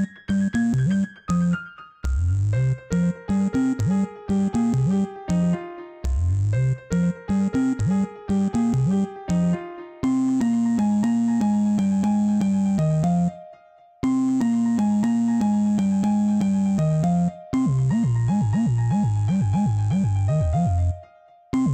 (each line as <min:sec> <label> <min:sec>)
0:00.0 psychadelic salsa piano 0:21.7
0:02.0 sub dub bass 0:04.0
0:06.1 sub dub bass 0:08.0